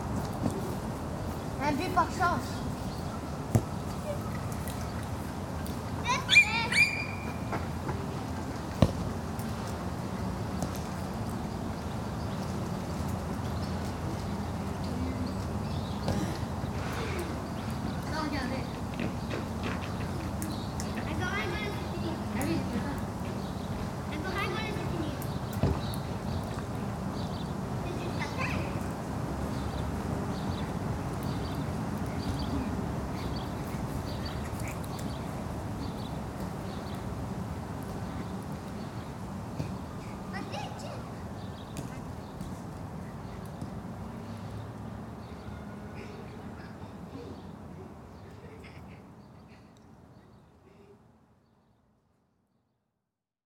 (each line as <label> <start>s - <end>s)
Children playing football 5.9s - 9.1s